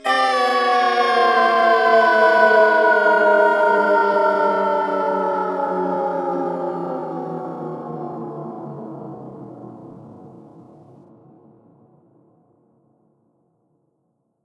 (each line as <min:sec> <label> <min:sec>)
0:00.0 Girl screaming 0:02.1